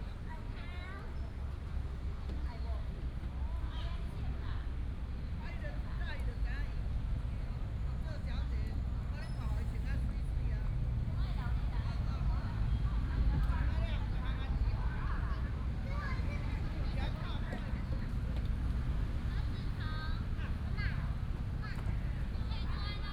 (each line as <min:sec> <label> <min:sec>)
0:00.0 Traffic sound 0:23.1